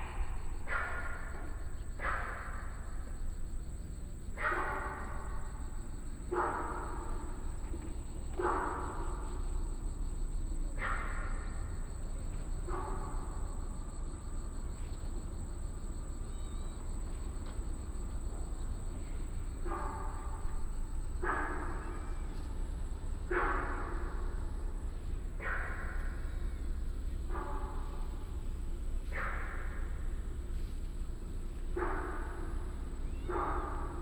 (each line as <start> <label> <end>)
0.0 Traffic Sound 16.2